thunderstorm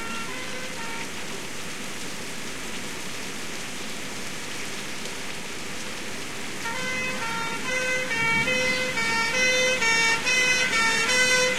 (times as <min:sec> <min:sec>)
0:06.7 0:11.5